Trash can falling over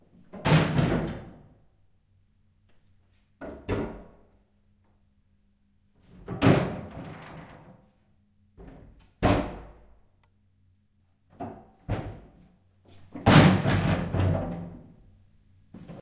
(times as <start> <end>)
13.1 14.8